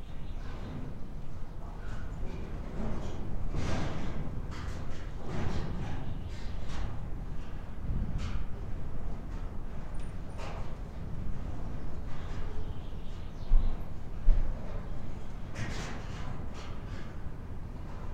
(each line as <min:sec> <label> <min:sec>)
0:00.1 wind plays with the collapsing roof construction 0:18.1